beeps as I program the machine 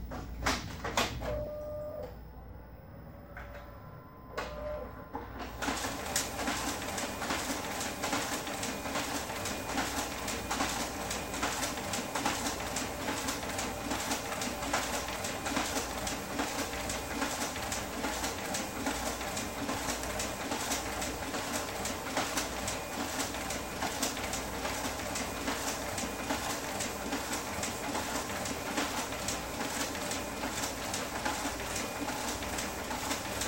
0:01.3 0:02.1, 0:04.3 0:04.9

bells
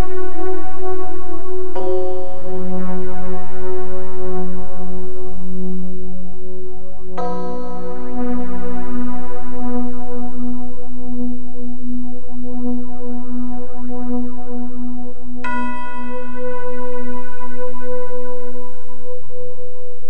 0:07.2 0:09.1, 0:15.4 0:18.8

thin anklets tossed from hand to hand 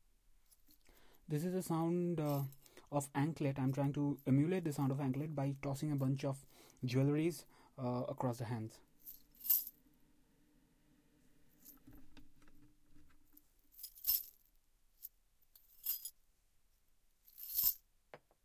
0:17.3 0:17.8

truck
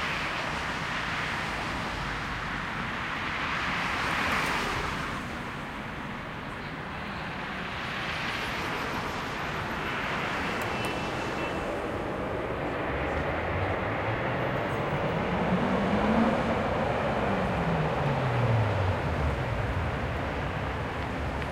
0:04.7 0:21.5

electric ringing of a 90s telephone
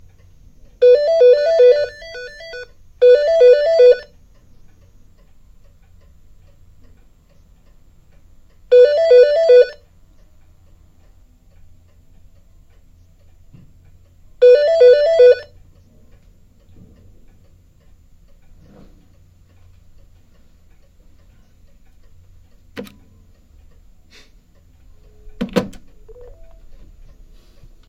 0:00.8 0:04.2, 0:08.7 0:09.8, 0:14.4 0:15.5

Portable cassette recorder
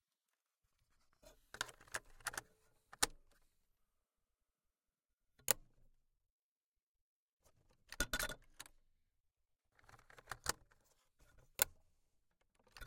0:10.0 0:10.7

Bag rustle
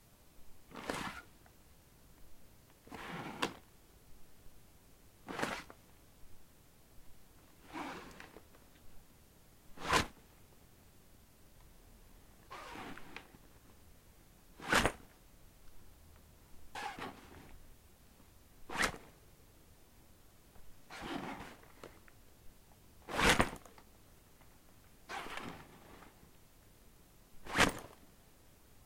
0:27.5 0:27.9

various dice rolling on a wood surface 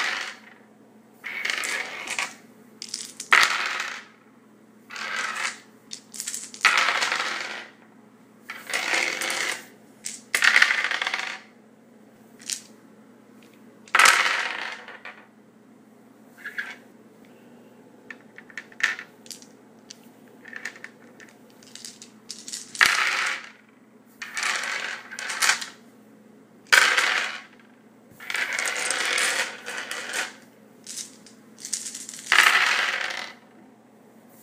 0:00.0 0:00.6, 0:01.2 0:04.2, 0:04.9 0:07.9, 0:08.5 0:11.5, 0:12.4 0:12.7, 0:13.4 0:15.3, 0:16.4 0:16.8, 0:18.1 0:25.8, 0:26.7 0:33.6

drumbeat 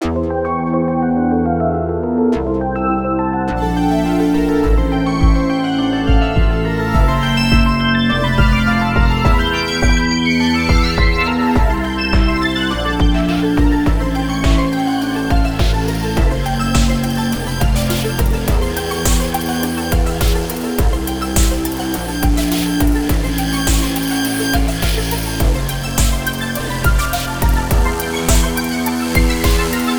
0:06.1 0:07.8, 0:08.4 0:29.9

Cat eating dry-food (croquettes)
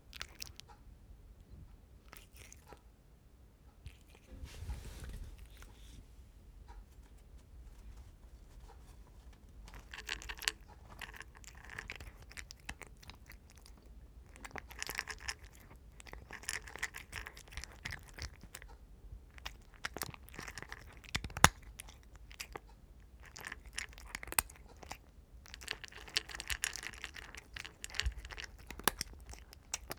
0:00.0 0:00.8, 0:02.0 0:02.8, 0:03.8 0:04.4, 0:08.6 0:29.9

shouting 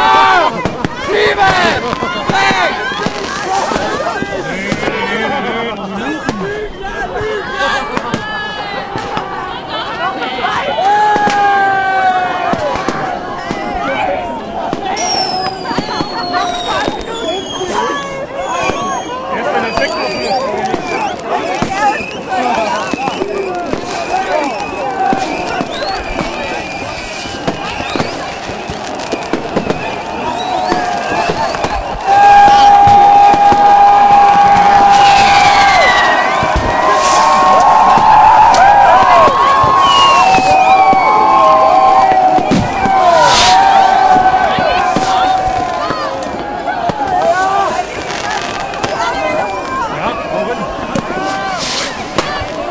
0:00.0 0:05.4, 0:29.4 0:51.6

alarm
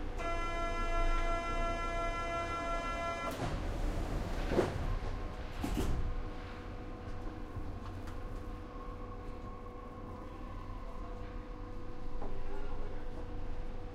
0:00.2 0:03.4

